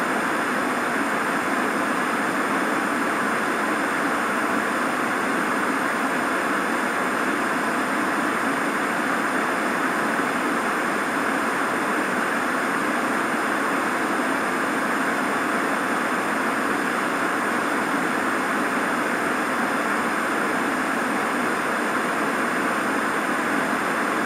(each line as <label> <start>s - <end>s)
static 0.0s - 24.2s